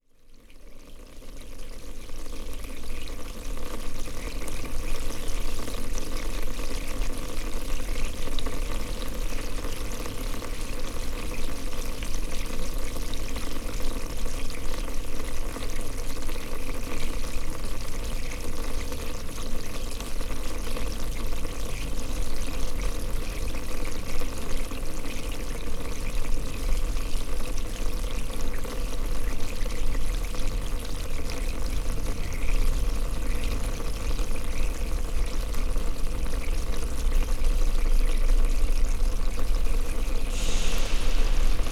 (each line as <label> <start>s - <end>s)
Underground pipe 0.0s - 41.7s